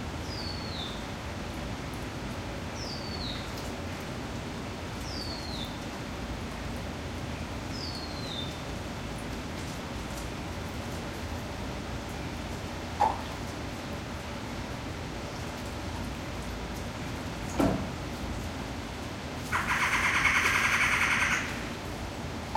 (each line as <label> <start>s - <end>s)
Red-bellied Woodpecker 19.5s - 21.5s
Collared Finchbill 19.5s - 21.6s
Bali Starling 19.5s - 21.7s